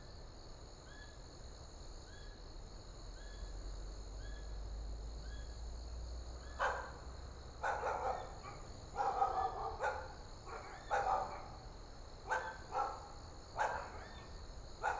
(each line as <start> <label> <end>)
6.6 Dogs barking 7.0
6.6 distant sound of traffic 14.2
7.6 Dogs barking 14.9